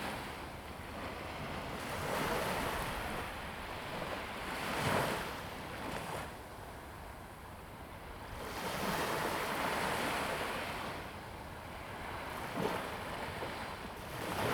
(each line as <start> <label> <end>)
0.0 Waves 14.5